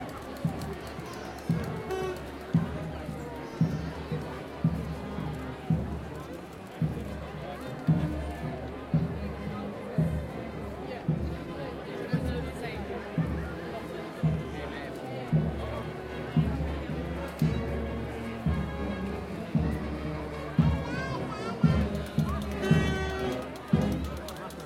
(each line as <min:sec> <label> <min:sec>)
0:00.0 Crowd noise 0:24.6
0:00.0 marching band drumming in the distance 0:24.6